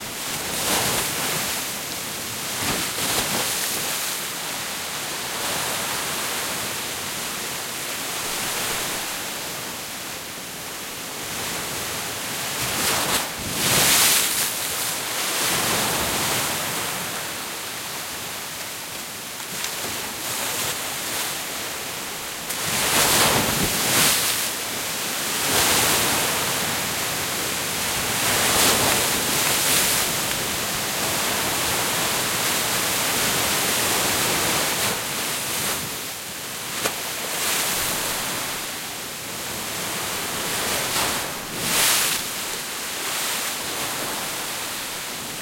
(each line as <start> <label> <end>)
0.0 Waves crashing against a seawall 9.9
11.1 Waves crashing against a seawall 45.4